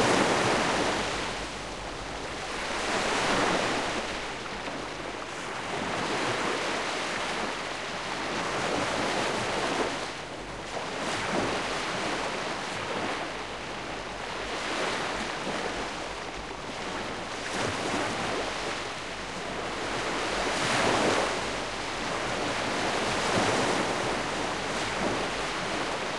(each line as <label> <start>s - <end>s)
Seawash (calm) 0.0s - 26.1s